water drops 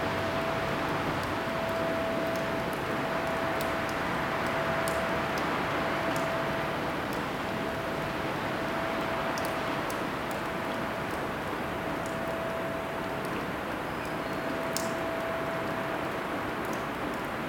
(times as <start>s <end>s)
14.0s 17.3s